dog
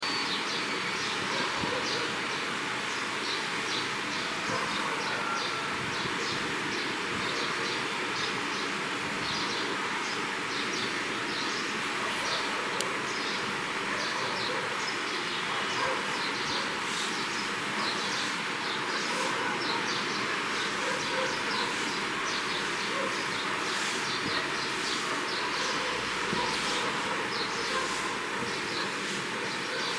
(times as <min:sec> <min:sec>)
0:13.9 0:14.7, 0:15.7 0:16.7, 0:19.1 0:20.0, 0:20.8 0:21.7, 0:25.2 0:28.0